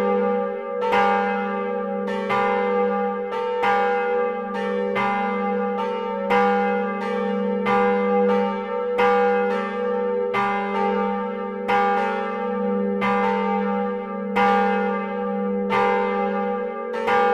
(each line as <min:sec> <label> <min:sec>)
0:00.0 two bells of the church 0:17.3